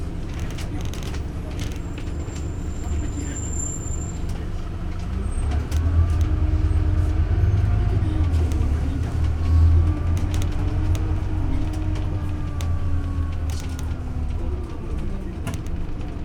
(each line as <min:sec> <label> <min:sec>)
0:00.0 Bus 57 Paris - Bus 57 0:16.2